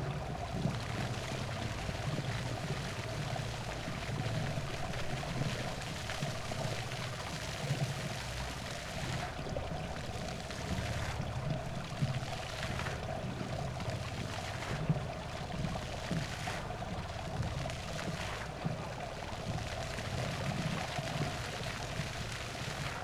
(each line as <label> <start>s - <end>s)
work of fountain 0.0s - 23.0s